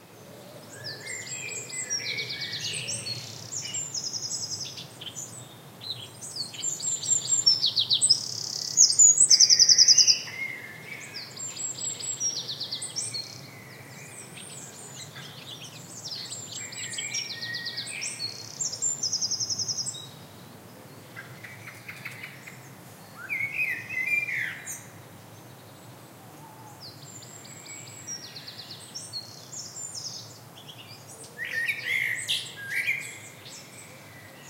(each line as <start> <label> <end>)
0.6 Birdsong 34.4
0.7 Blackbird 20.1
21.1 Blackbird 25.0
26.3 Blackbird 34.4